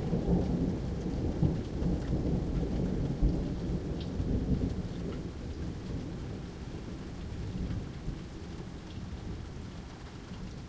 rain 0.0 - 10.6

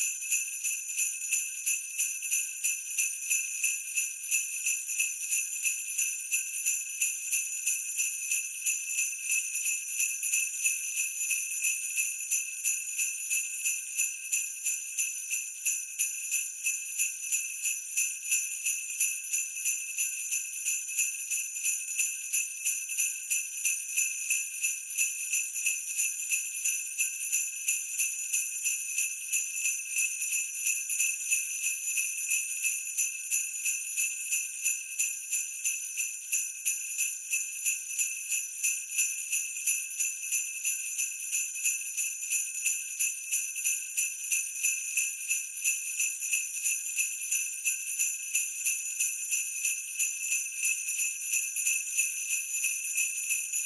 Sleigh bells 0.0 - 53.6

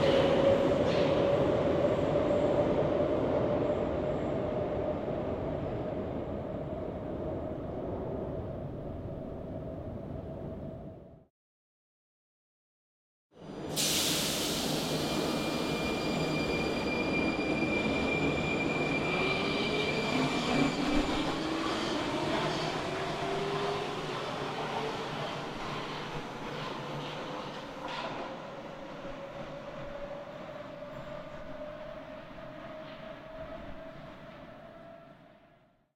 Train leaving the station 0.0 - 11.2
Train leaving the station 13.4 - 35.9

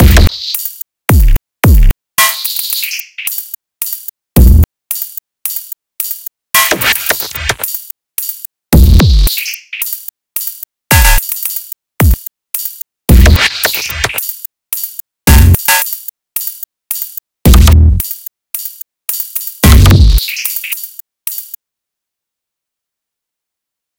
glitchy percussion 0.0 - 21.6

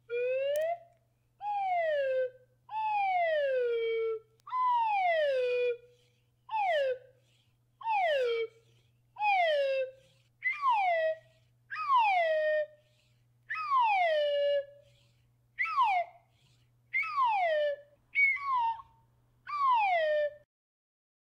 slide whistle sound 0.0 - 20.4

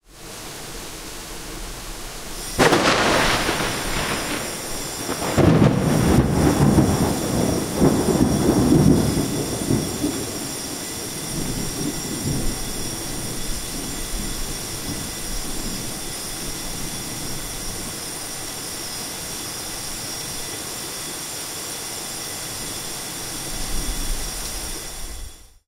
Rain 0.0 - 25.6
Thunder 2.4 - 16.1
Firealarm 2.4 - 21.2

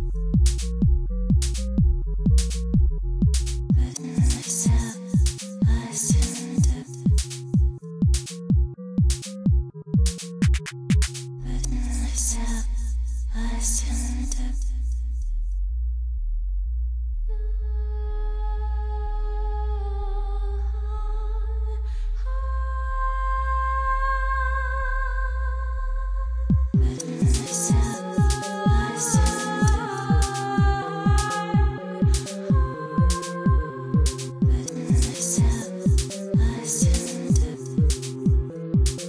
drum 0.0 - 11.3
bass 0.0 - 39.0
lovely vocal 3.7 - 7.8
lovely vocal 11.4 - 15.2
lovely vocal 17.3 - 39.0
drum 26.5 - 39.0
synth 26.8 - 39.0

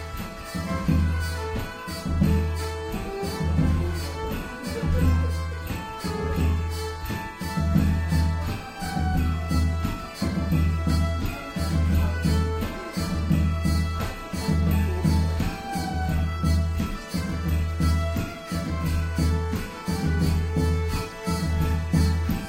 bagpipe 0.0 - 22.4
drums 0.0 - 22.4
fiddle 0.0 - 22.4
hurdy gurdy 0.0 - 22.4

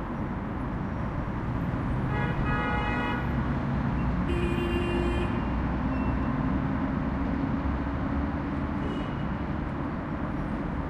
traffic 0.0 - 10.8

